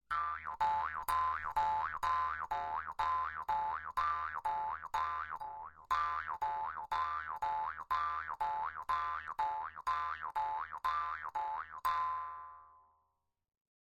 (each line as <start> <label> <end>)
0.1 jaws harp being played 13.0